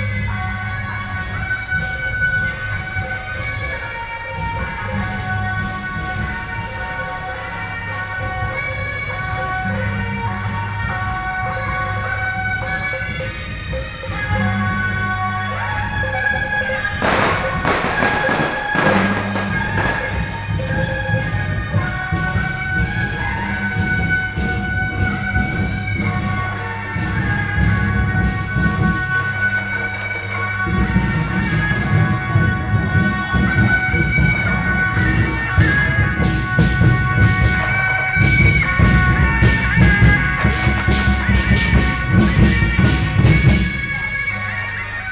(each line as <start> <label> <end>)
0.0 Traffic Noise 45.1
0.0 walking in the Street 45.1